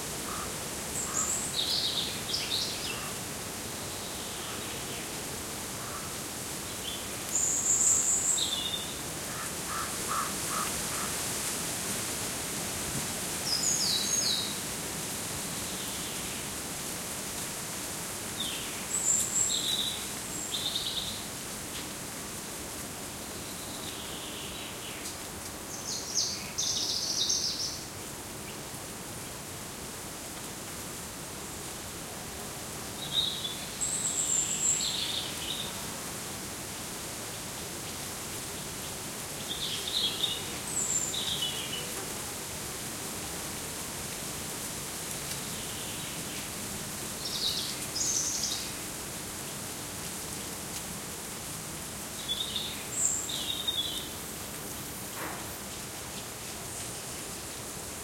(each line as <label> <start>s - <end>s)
insects 0.0s - 58.0s
murmur of leaves 0.0s - 58.0s
crow squawking 9.3s - 11.1s